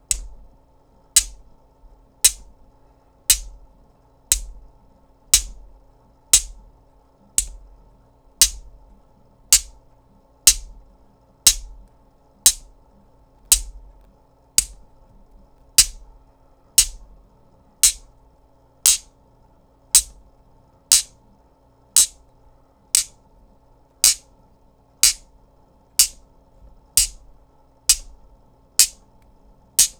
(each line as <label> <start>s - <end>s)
Buzzing noisemaker magnets clacking or clicking together 0.0s - 0.5s
Buzzing noisemaker magnets clacking or clicking together 1.2s - 1.5s
Buzzing noisemaker magnets clacking or clicking together 2.2s - 2.6s
Buzzing noisemaker magnets clacking or clicking together 3.3s - 3.6s
Buzzing noisemaker magnets clacking or clicking together 4.3s - 4.7s
Buzzing noisemaker magnets clacking or clicking together 5.3s - 5.7s
Buzzing noisemaker magnets clacking or clicking together 6.3s - 6.7s
Buzzing noisemaker magnets clacking or clicking together 7.4s - 7.7s
Buzzing noisemaker magnets clacking or clicking together 8.4s - 8.8s
Buzzing noisemaker magnets clacking or clicking together 9.5s - 9.8s
Buzzing noisemaker magnets clacking or clicking together 10.4s - 10.8s
Buzzing noisemaker magnets clacking or clicking together 11.5s - 11.9s
Buzzing noisemaker magnets clacking or clicking together 12.5s - 12.7s
Buzzing noisemaker magnets clacking or clicking together 13.4s - 14.9s
Buzzing noisemaker magnets clacking or clicking together 15.8s - 16.1s
Buzzing noisemaker magnets clacking or clicking together 16.8s - 17.1s
Buzzing noisemaker magnets clacking or clicking together 17.8s - 18.1s
Buzzing noisemaker magnets clacking or clicking together 18.8s - 19.1s
Buzzing noisemaker magnets clacking or clicking together 20.0s - 20.2s
Buzzing noisemaker magnets clacking or clicking together 20.9s - 21.2s
Buzzing noisemaker magnets clacking or clicking together 22.0s - 22.2s
Buzzing noisemaker magnets clacking or clicking together 23.0s - 23.2s
Buzzing noisemaker magnets clacking or clicking together 24.0s - 24.3s
Buzzing noisemaker magnets clacking or clicking together 25.0s - 25.3s
Buzzing noisemaker magnets clacking or clicking together 26.0s - 26.2s
Buzzing noisemaker magnets clacking or clicking together 27.0s - 29.9s